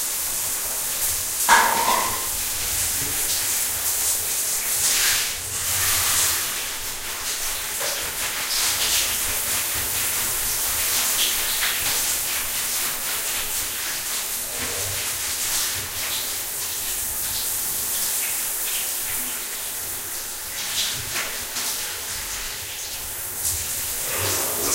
taking a bath 0:23.6 - 0:24.7

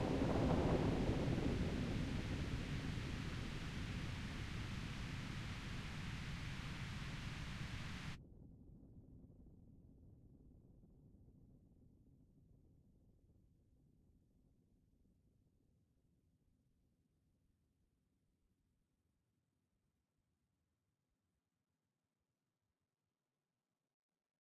Rain 0:00.0 - 0:08.2

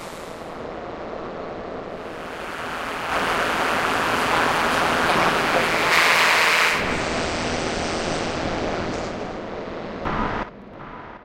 noisy drone sounds 0:00.0 - 0:11.2

